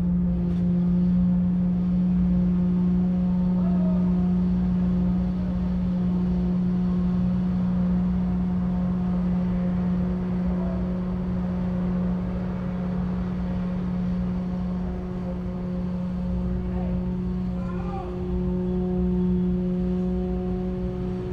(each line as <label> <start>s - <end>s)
construction works 0.0s - 21.3s